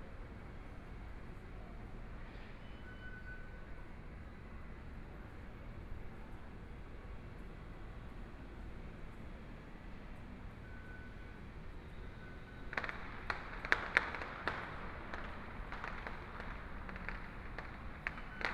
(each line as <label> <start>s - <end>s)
Train leaving the station 0.0s - 13.7s
Trains arrive at the station 0.0s - 18.5s
Firecrackers 12.0s - 18.5s